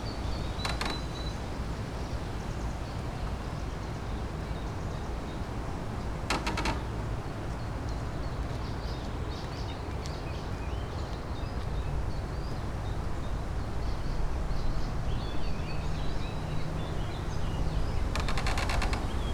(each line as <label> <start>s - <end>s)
wind and tree 0.0s - 19.3s